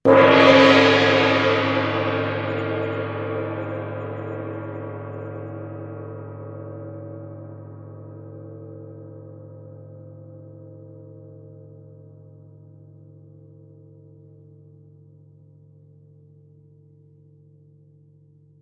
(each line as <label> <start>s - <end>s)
loud 'plashy'-souding gong-strike 0.1s - 6.3s